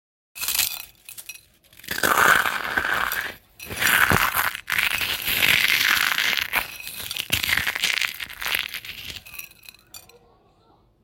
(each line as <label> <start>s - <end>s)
Crunching/ Grinding cereal in the palm of my hand 1.8s - 9.5s